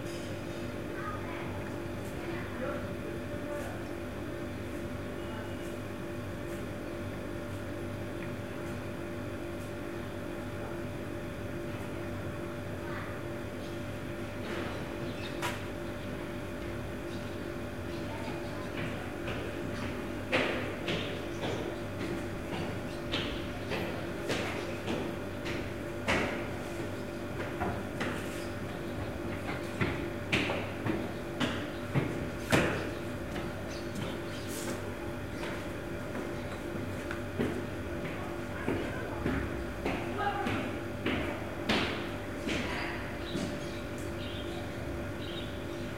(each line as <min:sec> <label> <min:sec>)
0:00.0 conditioner 0:45.9